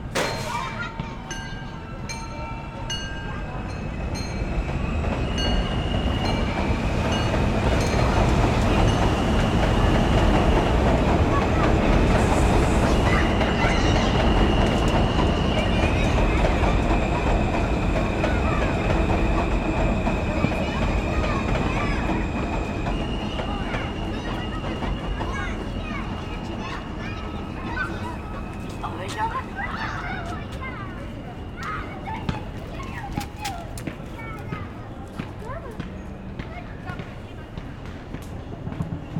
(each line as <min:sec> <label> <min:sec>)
0:00.0 Kids playing 0:39.1
0:00.0 M train 0:39.1
0:00.0 traffic 0:39.1
0:00.1 bells 0:11.3